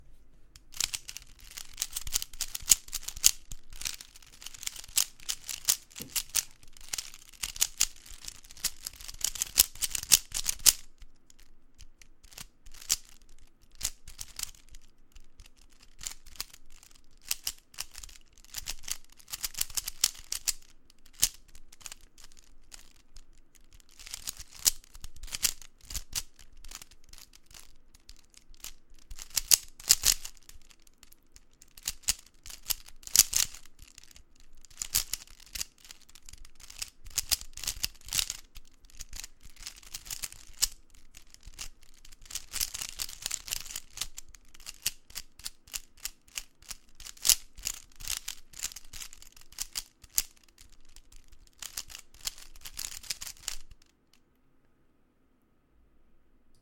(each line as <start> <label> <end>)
0.6 Rubikscube 54.2